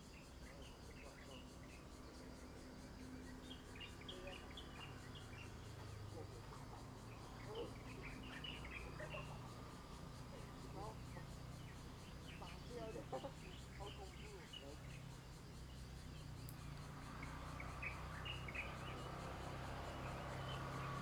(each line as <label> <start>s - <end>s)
Birdsong 0.0s - 21.0s
Traffic Sound 16.3s - 21.0s